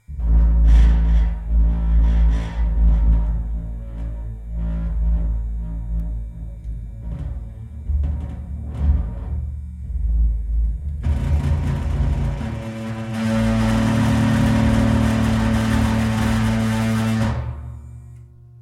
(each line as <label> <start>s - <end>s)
bass string 0.0s - 18.6s
metal tank 6.9s - 18.2s